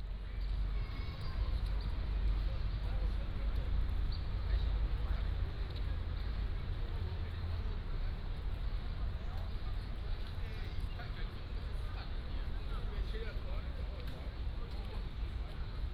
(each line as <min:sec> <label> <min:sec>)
0:00.2 Many old people gathered 0:15.9